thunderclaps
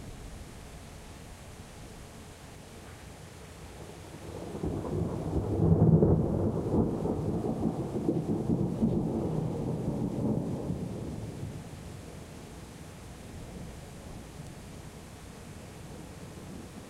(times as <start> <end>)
4.4 11.5